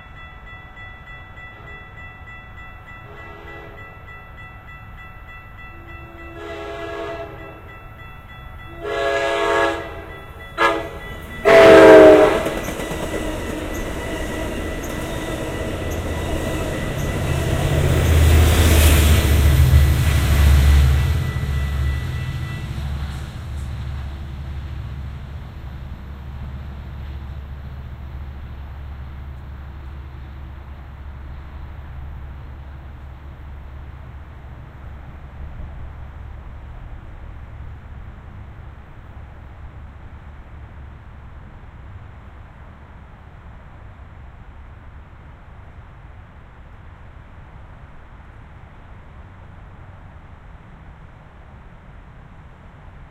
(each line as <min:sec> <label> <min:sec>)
0:05.8 high-speed train come screaming through 0:07.9
0:08.6 high-speed train come screaming through 0:39.6